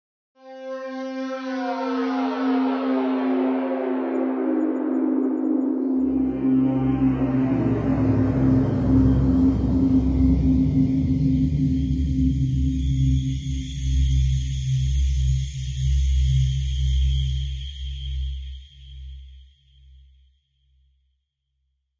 1.6s rapidly descending sonorous pad 13.5s

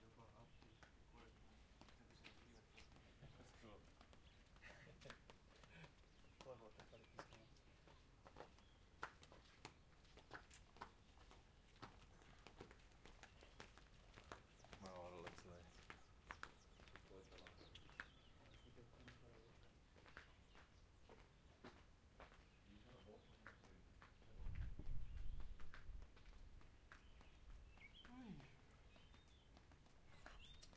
0.0s two people walking around outdoors 30.7s
14.7s talking to each other 16.0s

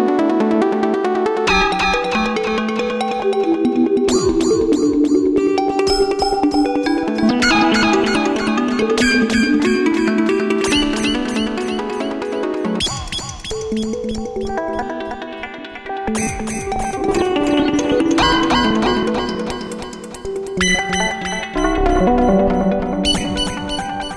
1.5s synth 15.3s
16.0s synth 24.1s

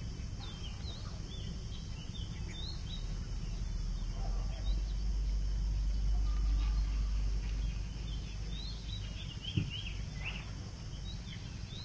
0.0s jungle sounds 11.8s
0.0s monkey noises 11.8s

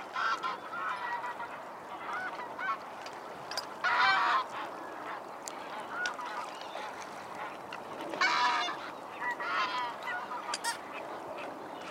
0.0s Canada geese 2.8s
0.0s mallard 2.8s
0.0s greylag geese 11.9s
0.0s mute swans (flapping their wings) 11.9s
0.0s occasional breeze 11.9s
3.8s Canada geese 11.9s
3.8s mallard 11.9s
8.1s black-headed gulls 11.5s

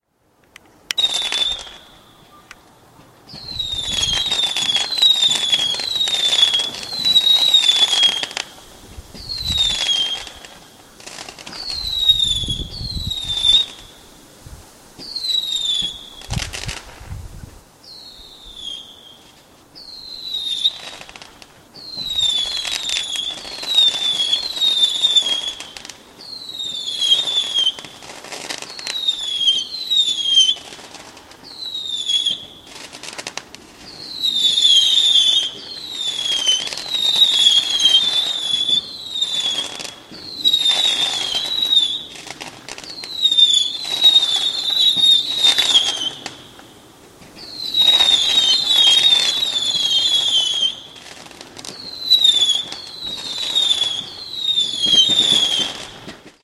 0.0s whistling fireworks 56.4s
0.4s crackling sound 17.7s
32.6s crackling sound 56.4s

